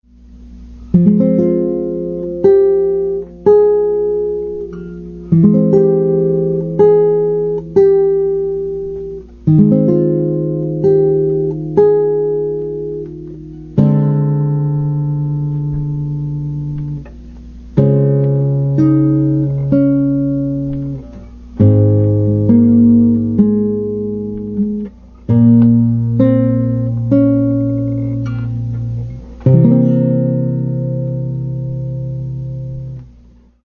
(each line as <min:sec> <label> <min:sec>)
0:00.0 Guitar 0:33.6